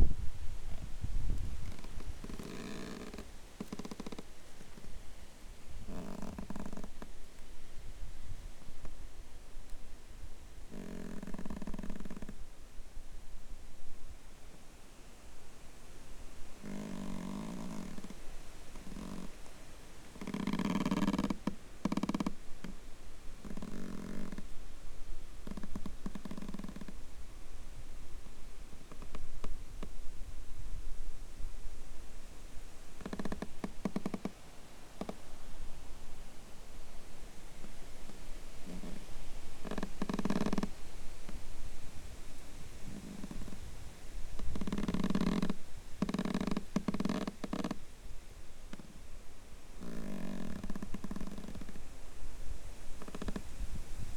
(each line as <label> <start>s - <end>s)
wind blows 0.0s - 2.4s
wind blows 40.6s - 46.0s
wind blows 51.7s - 54.1s